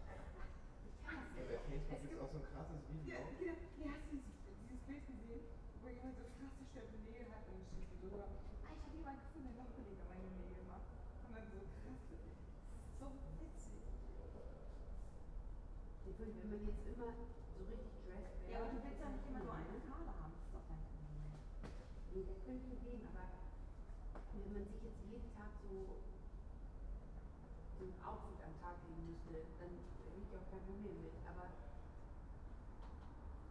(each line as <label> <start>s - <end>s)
three people conversation 0.0s - 33.5s